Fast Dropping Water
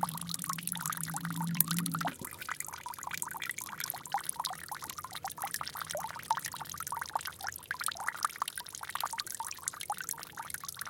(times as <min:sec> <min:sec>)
0:00.0 0:02.7